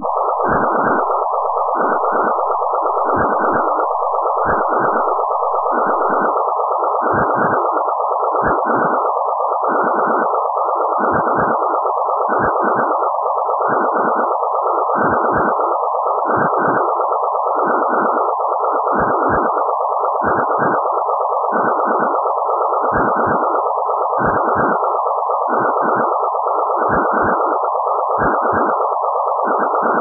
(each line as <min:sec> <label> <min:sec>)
0:00.0 Sine wave 0:30.0